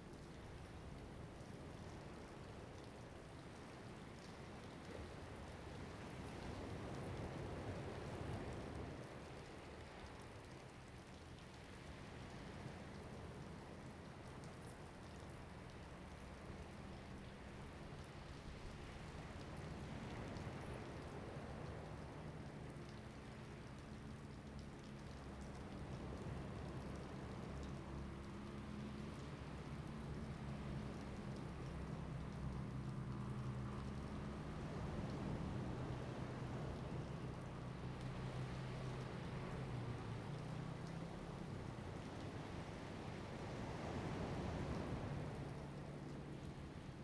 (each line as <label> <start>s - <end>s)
waves 0.0s - 47.0s